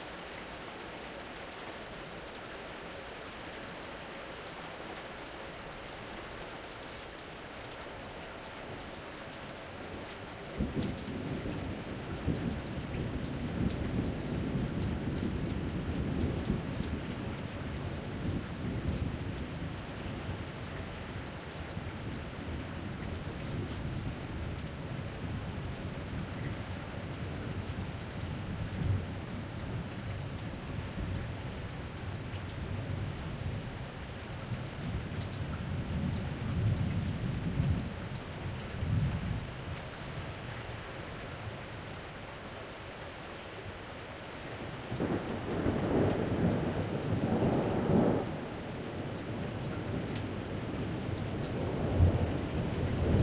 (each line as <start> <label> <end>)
0.0 heavy rain 53.2